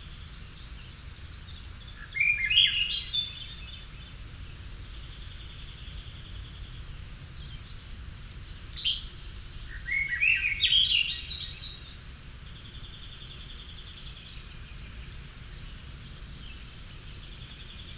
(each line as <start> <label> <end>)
1.9 Swainsons Thrush 4.0
8.8 Swainsons Thrush 14.5